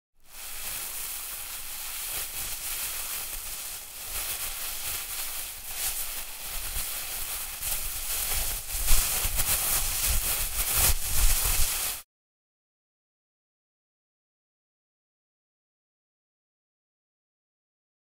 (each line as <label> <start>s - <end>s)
plastic Bag being messed with 0.2s - 12.0s